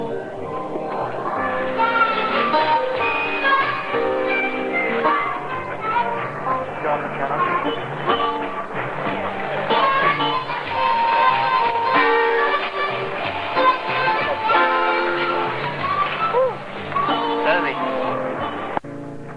0.0s jazz 19.3s
6.7s talk 7.8s
17.4s talk 18.1s

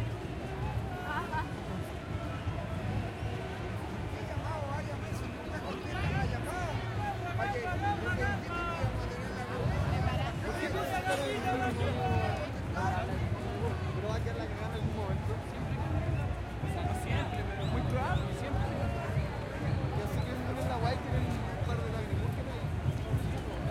0.0s crowd 23.7s
11.7s drums 23.7s

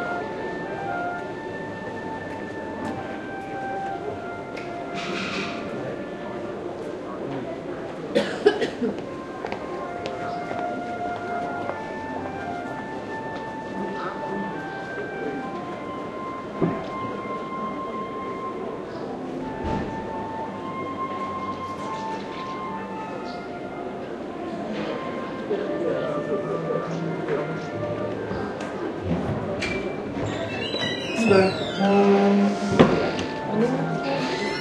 0.0s music 34.6s

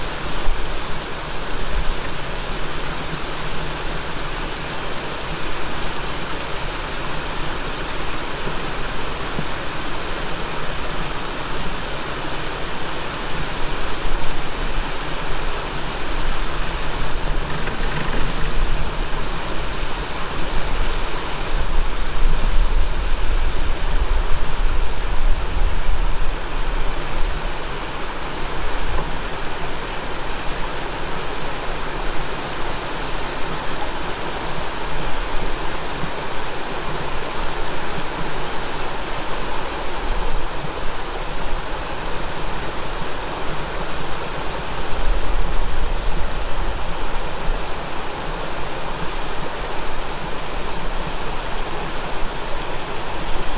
0.0s stream 53.5s
14.4s cableway 52.0s

